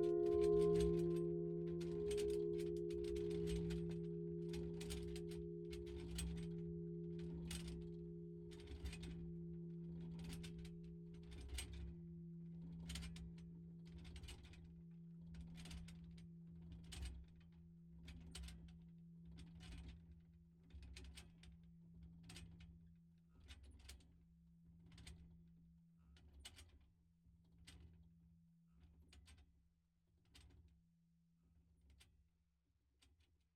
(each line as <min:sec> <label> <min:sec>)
0:00.0 Angélus - volée 0:09.9